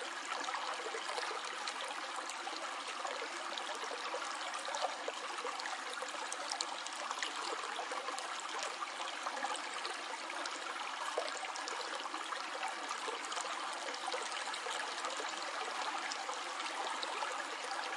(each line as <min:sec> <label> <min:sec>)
0:00.0 Water stream flowing in a river 0:17.9